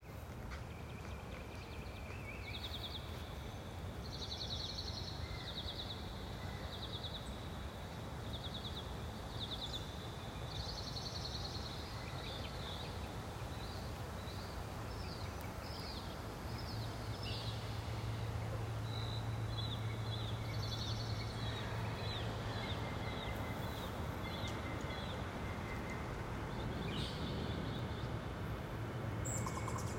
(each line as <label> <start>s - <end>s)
pedestrian footsteps on dry pine needles 0.0s - 3.9s
faint hum of air conditioning units 0.1s - 29.9s